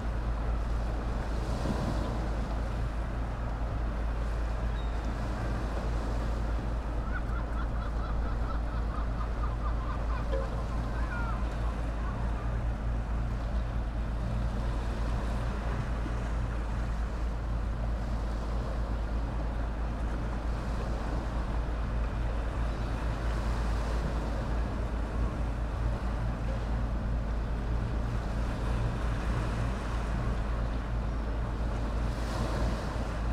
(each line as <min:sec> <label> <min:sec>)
0:00.0 fishing boats 0:33.3
0:00.0 waves 0:33.3
0:06.9 seagulls 0:12.5